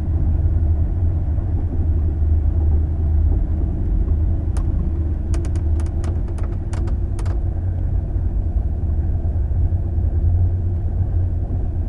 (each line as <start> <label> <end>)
4.5 noise from moving furniture 7.5